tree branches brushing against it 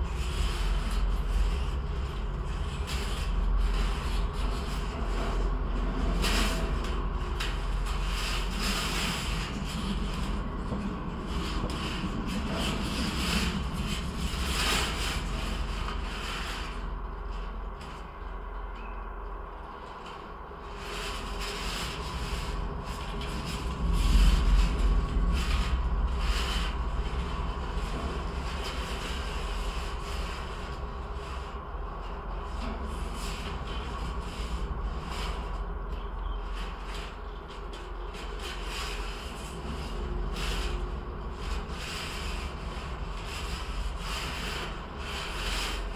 19.8 45.9

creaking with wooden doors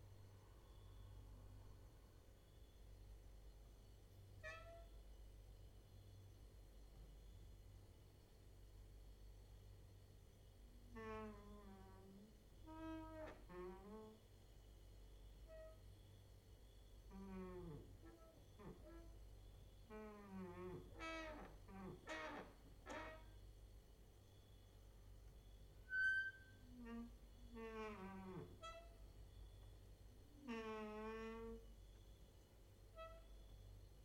10.8 14.2, 17.1 23.4, 25.8 29.6, 30.3 32.0

